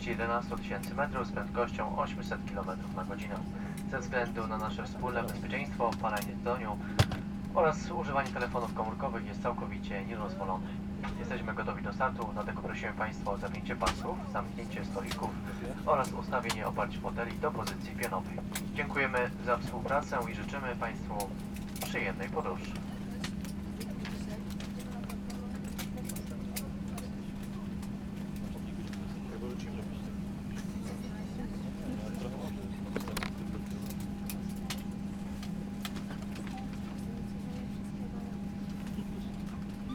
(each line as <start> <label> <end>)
0.0 gushing jet engines 39.9